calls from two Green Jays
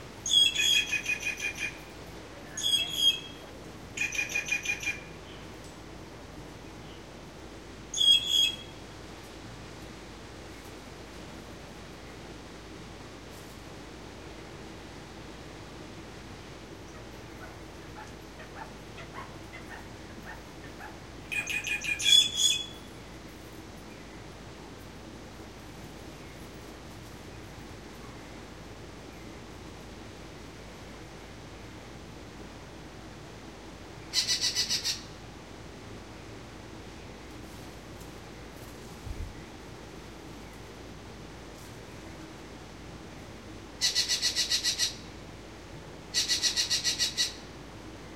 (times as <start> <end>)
2.6 3.4